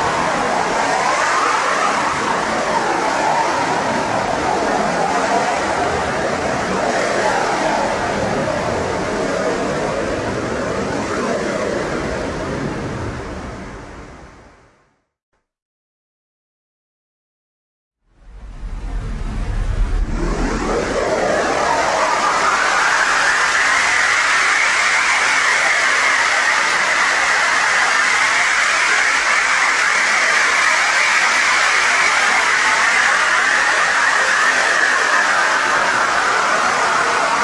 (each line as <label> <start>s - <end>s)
bandpassed noise 18.1s - 24.7s